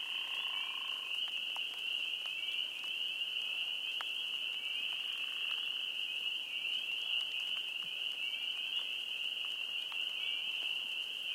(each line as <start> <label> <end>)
0.0 calls of some creature of the night 1.1
0.0 Chorus of various species of frogs 11.3
0.0 Light rain 11.3
0.0 crickets 11.3